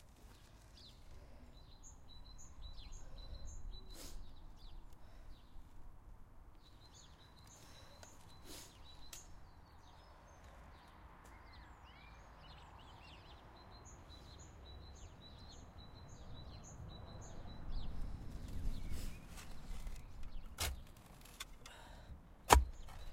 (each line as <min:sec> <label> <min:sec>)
0:00.0 Wind 0:23.1
0:00.1 Birds 0:23.1
0:04.9 breathing 0:05.5
0:07.5 breathing 0:08.8
0:19.0 Continuous digging 0:23.1
0:21.6 breathing 0:22.2